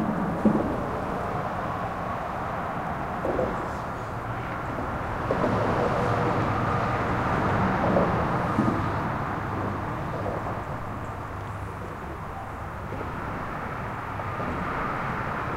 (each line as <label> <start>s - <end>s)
thumps as the cars drive over the seams 4.8s - 6.6s
thumps as the cars drive over the seams 7.5s - 11.0s